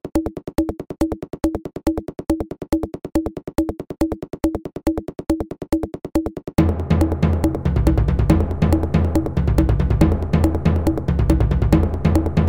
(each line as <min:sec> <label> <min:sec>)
0:06.6 bass 0:12.4
0:06.6 bassdrum acoustic 0:12.4